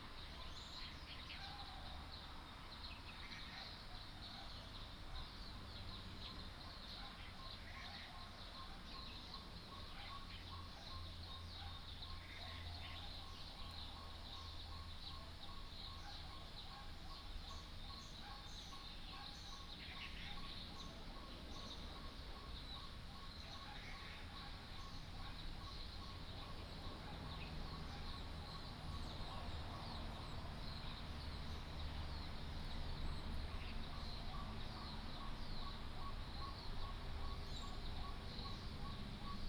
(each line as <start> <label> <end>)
2.7 Birdsong 39.4
16.0 Dogs barking 19.5
25.5 Traffic Sound 39.4